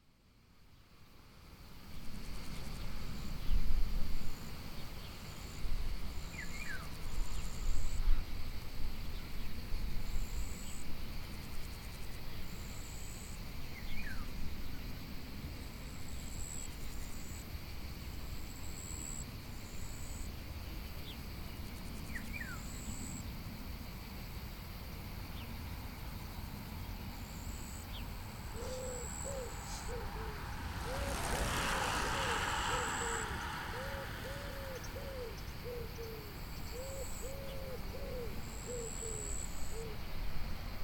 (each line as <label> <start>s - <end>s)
cyclistes de passage 27.2s - 36.7s